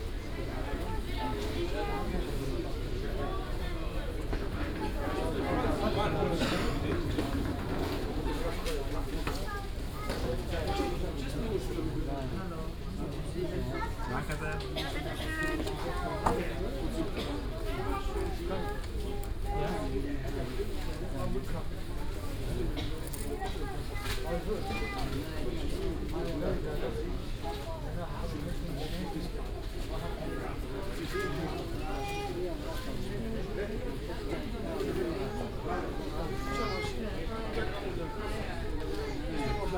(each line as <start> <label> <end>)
0.0 People 39.7